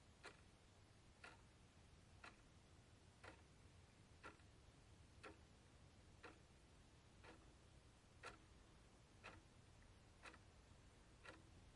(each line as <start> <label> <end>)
0.1 Clock tick 0.6
1.2 Clock tick 1.5
2.2 Clock tick 2.6
3.2 Clock tick 3.6
4.2 Clock tick 4.6
5.2 Clock tick 5.5
6.2 Clock tick 6.6
7.2 Clock tick 8.6
9.2 Clock tick 11.7